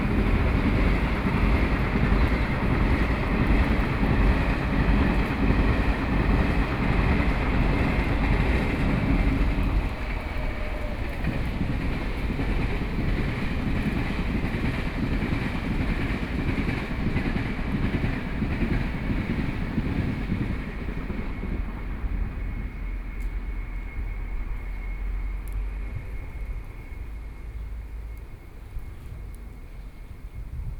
Traffic Noise 0:00.0 - 0:30.7
Train traveling through 0:00.0 - 0:30.7

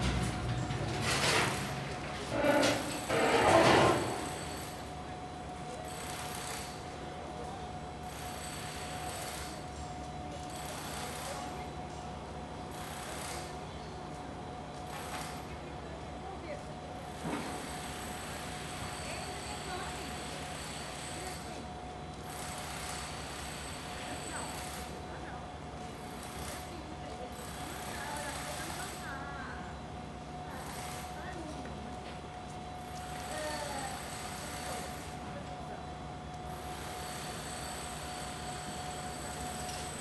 construction works on one of the buildings 0:00.0 - 0:40.0

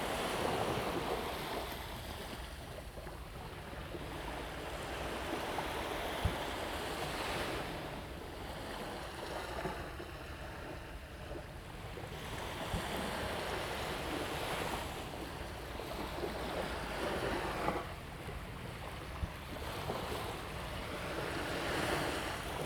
waves 0:00.0 - 0:22.6

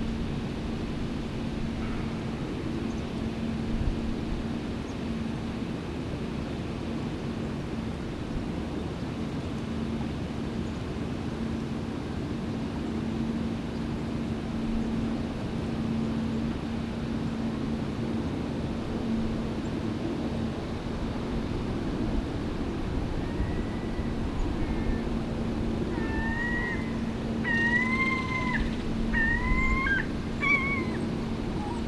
Planes 0:00.0 - 0:31.8
distant roar of the lock spillway and fish ladder 0:00.0 - 0:31.8
guided tour boat coming through the lock 0:00.0 - 0:31.8
Seagulls 0:25.8 - 0:31.8
crows 0:25.9 - 0:31.8

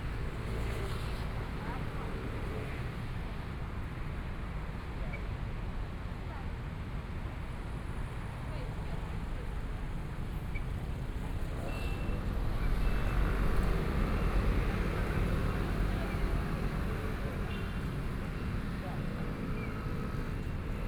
Traffic Sound 0:10.4 - 0:20.8

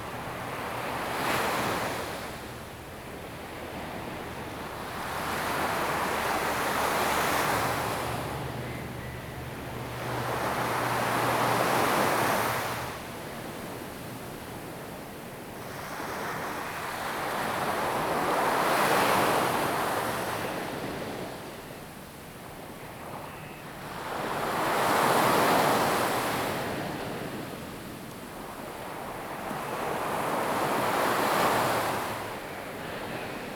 waves 0:00.0 - 0:33.5

